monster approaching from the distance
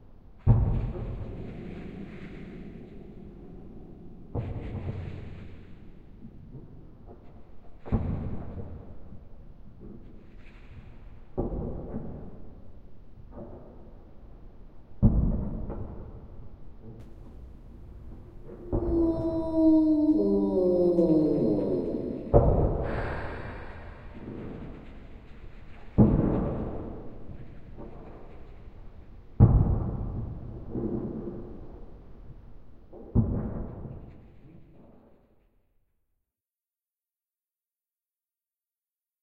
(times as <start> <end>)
17.1 25.3